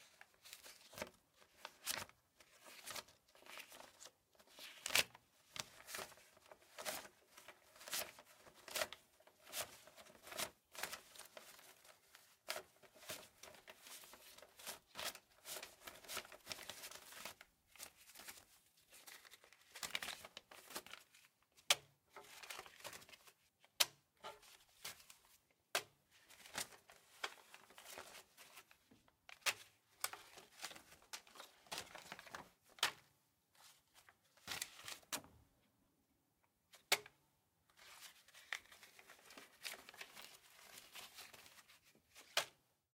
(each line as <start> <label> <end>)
0.1 paper money being handled 21.2
24.2 paper money being handled 33.0
37.8 paper money being handled 42.6